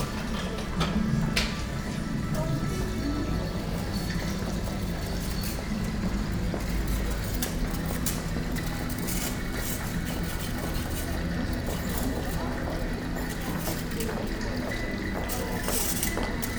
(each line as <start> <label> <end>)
0.0 shoppers 16.5